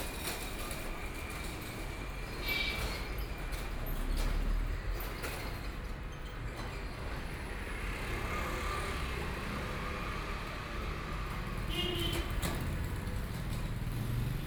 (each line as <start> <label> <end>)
0.0 Traffic Sound 14.4